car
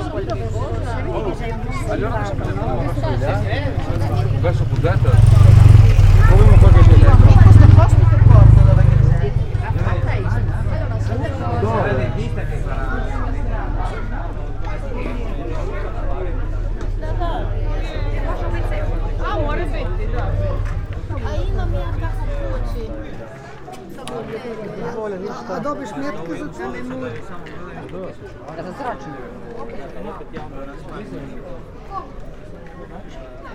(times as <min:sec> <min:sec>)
0:01.7 0:23.2